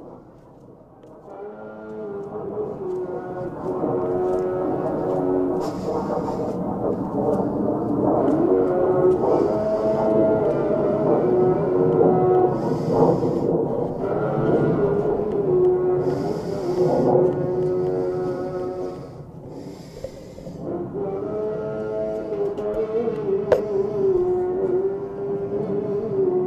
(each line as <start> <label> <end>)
0.0 Atem 26.4
0.0 Düsenjet 26.4
0.1 Ruf des Muezzin 26.4